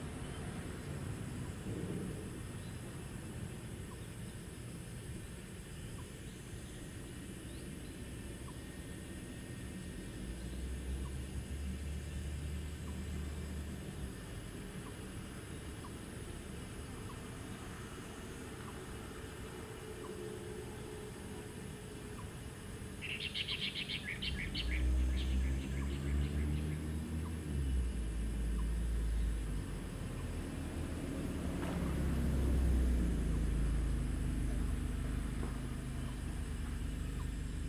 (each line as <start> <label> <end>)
0.0 Cicadas sound 37.6
0.0 Traffic Sound 37.6
18.4 Bird calls 30.6